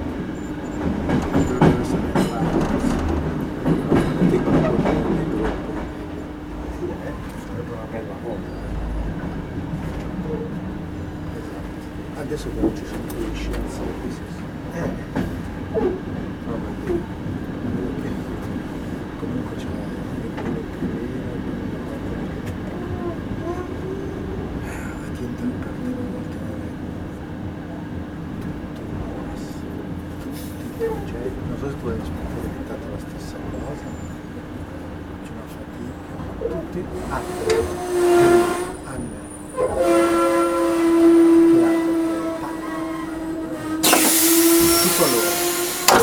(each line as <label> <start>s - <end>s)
Jumping off a train in arrival 32.2s - 46.0s